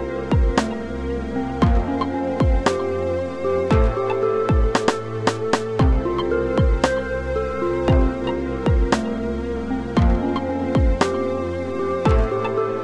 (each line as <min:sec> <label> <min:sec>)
0:00.0 Backgroundmusic 0:12.8